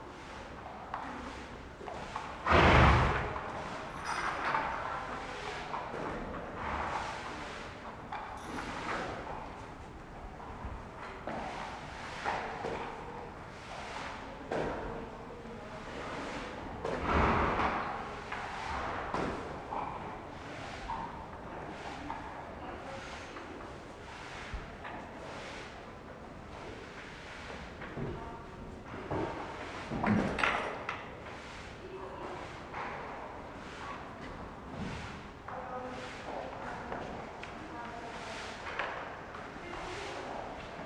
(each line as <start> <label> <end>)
0.0 cleaning the floor 4.2
2.5 their snorting 3.3
4.9 cleaning the floor 30.2
31.2 cleaning the floor 40.8